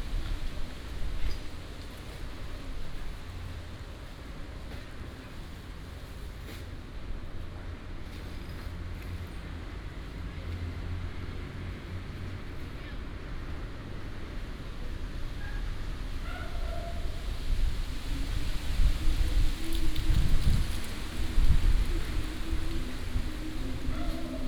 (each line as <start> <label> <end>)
0.0 wind and Leaves 24.4
18.3 Walking in the Park 24.4
23.9 Dog 24.4